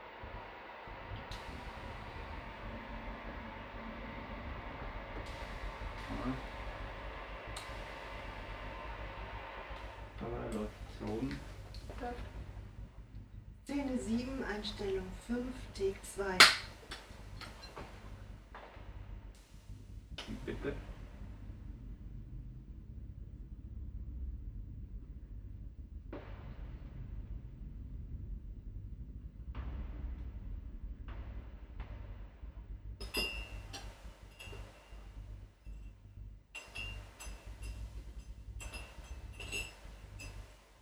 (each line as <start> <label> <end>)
13.7 voice of the editor 16.6
13.7 team applause 17.9